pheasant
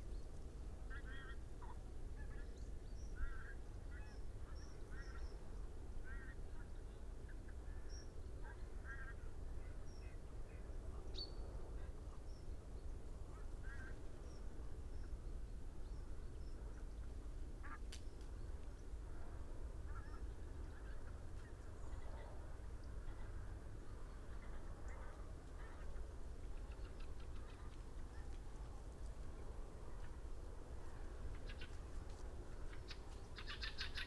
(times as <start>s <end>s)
19.8s 34.0s